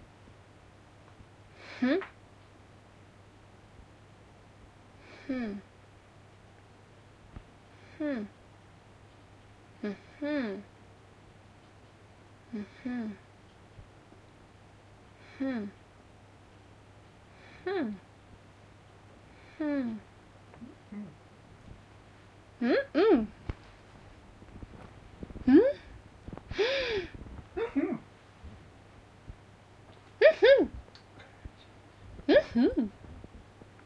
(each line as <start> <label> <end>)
0.0 noise in the background 33.8